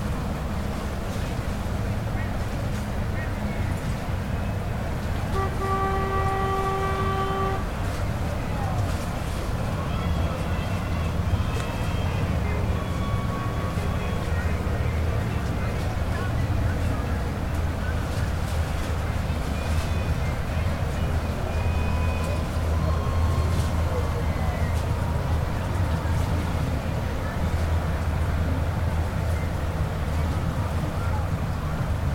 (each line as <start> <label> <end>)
0.0 boats pass 32.1
21.4 cheering 25.5